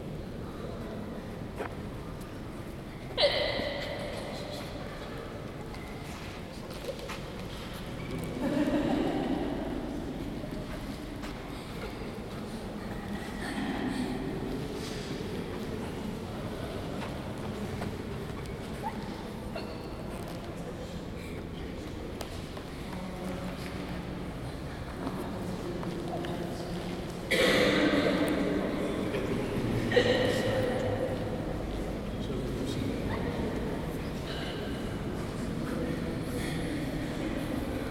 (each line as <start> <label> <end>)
3.1 hiccups 4.1